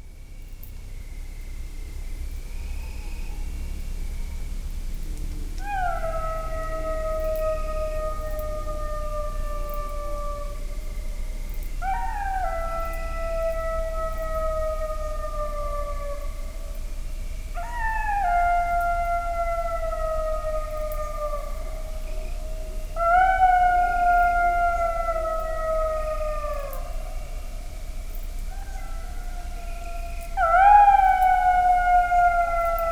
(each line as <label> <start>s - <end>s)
jackal howling 5.6s - 32.9s